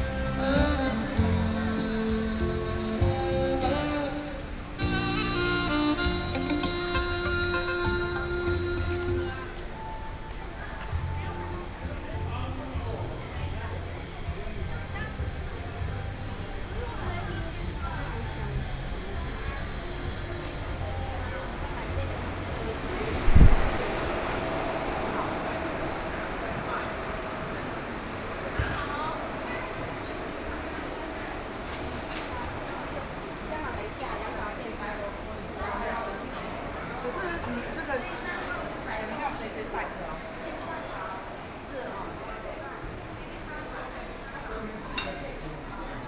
Many tourists 0:00.0 - 0:46.0
Walking through the Tourism Winery 0:00.0 - 0:46.0

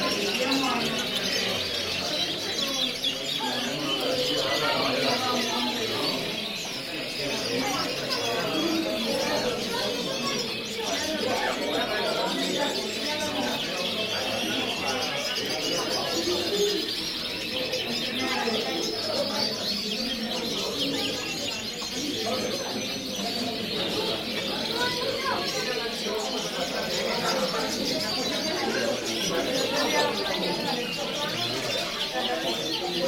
pet shop birds 0:00.0 - 0:33.0

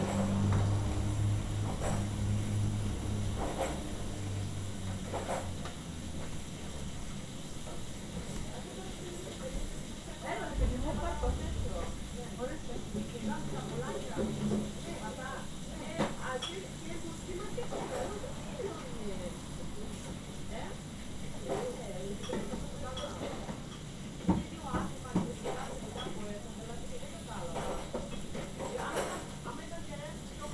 Woman working in a kitchen 0:00.0 - 0:30.5
Woman talking 0:08.2 - 0:23.5
Woman talking 0:24.2 - 0:27.9
Woman talking 0:28.6 - 0:30.5

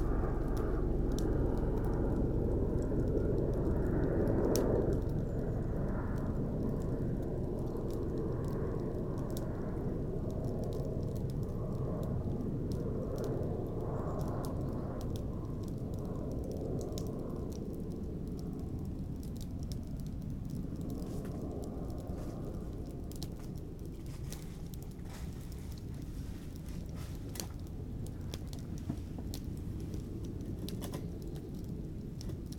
crackly fire 0:00.0 - 0:32.5
Preparing the fireplace 0:23.2 - 0:31.4

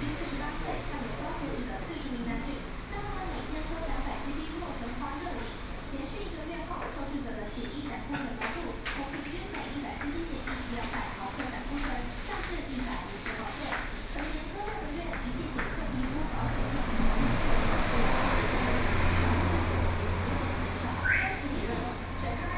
TV news sound 0:14.3 - 0:22.5

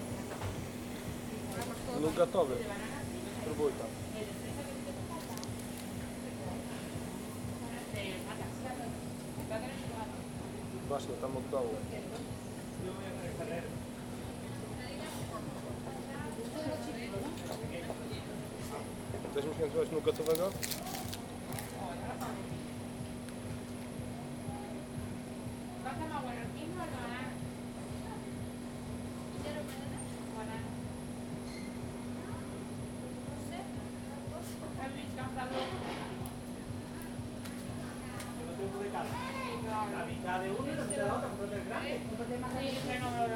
Women chatting at a nearby ice cream stand 0:00.0 - 0:43.3

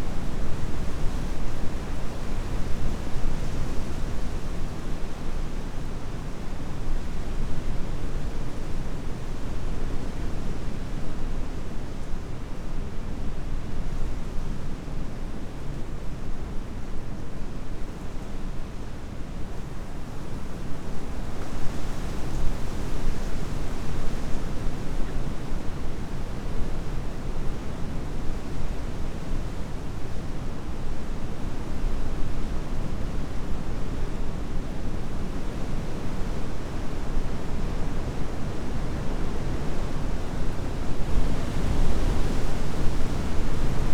strong wind heard in a shelter 0:00.0 - 0:43.9

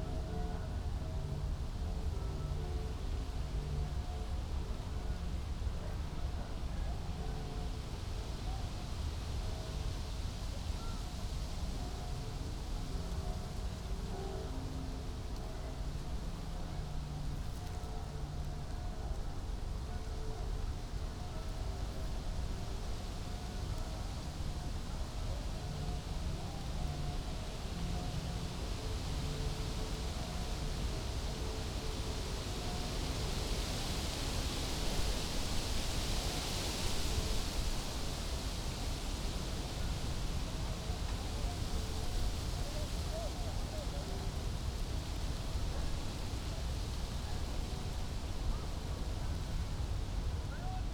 wind 0:00.0 - 0:50.9

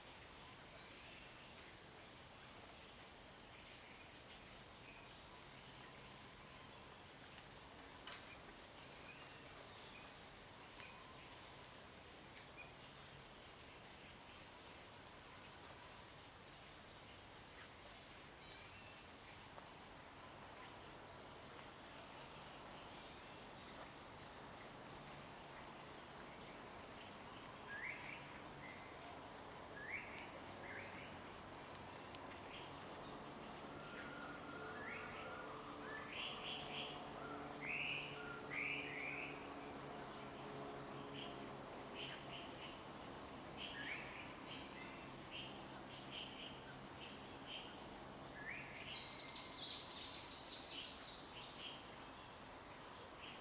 Traffic Sound 0:23.8 - 0:48.4

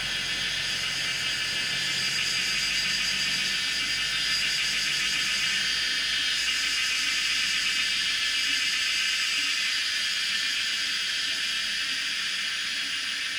Traffic Sound 0:00.0 - 0:05.8
Cicadas cry 0:00.0 - 0:13.3

